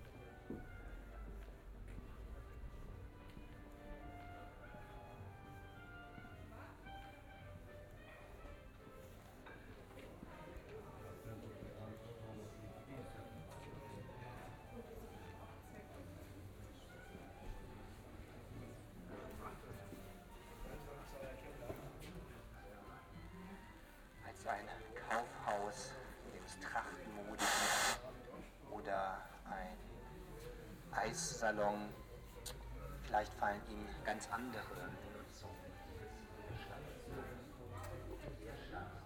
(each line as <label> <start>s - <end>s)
walk down the street 0.0s - 12.1s